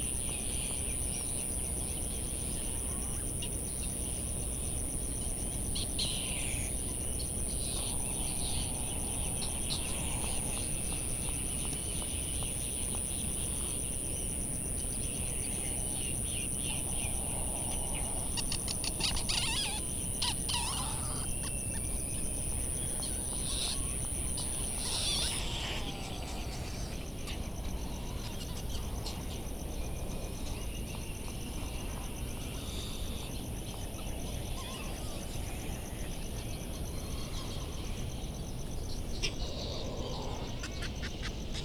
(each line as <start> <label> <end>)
16.0 laysan albatross 27.1